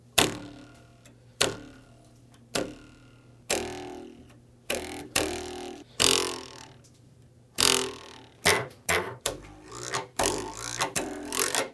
Plastic Knife Buzz 0.2 - 6.9
Plastic Knife Buzz 7.6 - 11.7

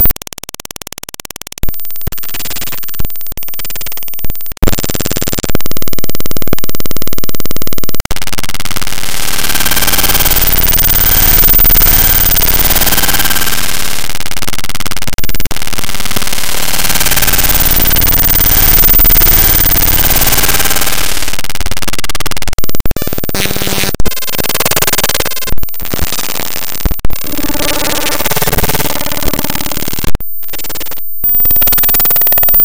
Computer Glitch 0.0 - 32.6

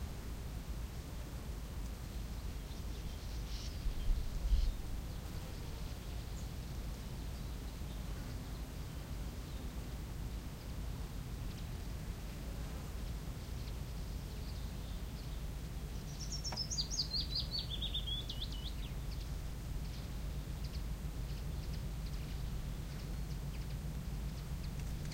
Birds singing at various distance 0.0 - 25.1
Wind 0.0 - 25.1
bees 4.6 - 6.6

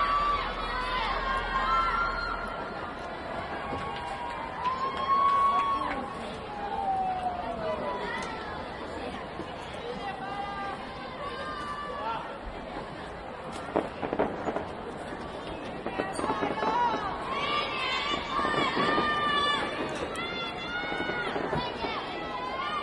neighbors cheering and shouting 0.0 - 12.6
fireworks 3.2 - 9.9
fireworks 12.4 - 22.8
neighbors cheering and shouting 15.7 - 22.8

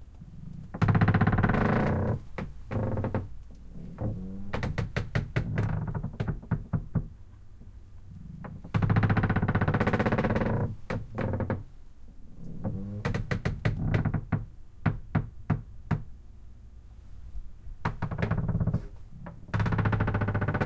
wood creaks deep long 0.4 - 7.1
wood creaks deep long 8.4 - 11.7
wood creaks deep long 12.5 - 14.4
wood creaks deep long 17.8 - 20.6

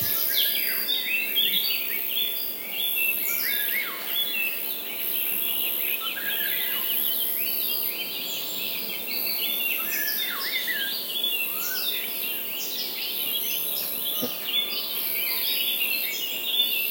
Birds 0.0 - 16.9

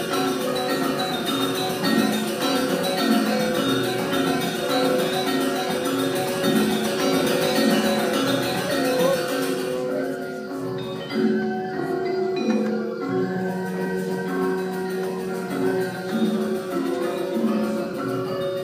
Gamelan Orchestra 0.0 - 18.6

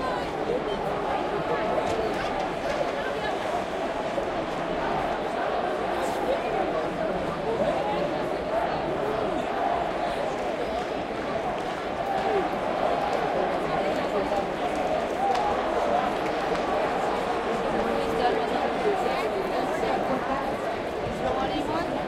Cheers 0.0 - 22.0
general crowd sounds 0.0 - 22.0

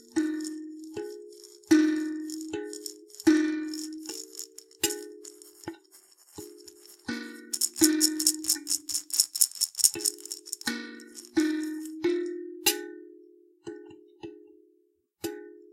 shaker egg 0.0 - 12.2
reversed plunking on a percussion instrument 0.0 - 12.4

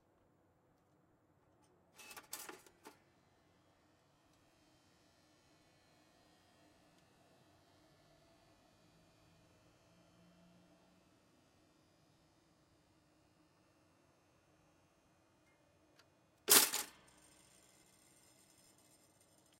toaster pop 16.5 - 16.9
Toaster start and stop 16.5 - 17.0

